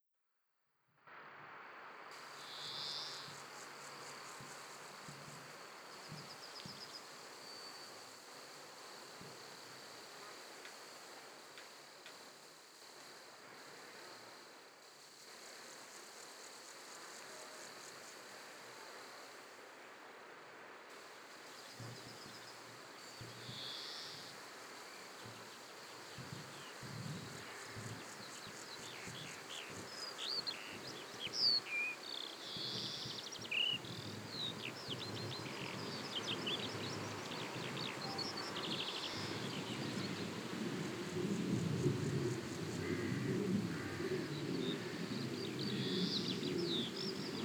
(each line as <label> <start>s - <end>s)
wind softly moves the leaves of some nearby trees 1.0s - 47.4s
crickets 1.1s - 47.4s
vivid small birds playful fly across the field chirping 21.0s - 47.4s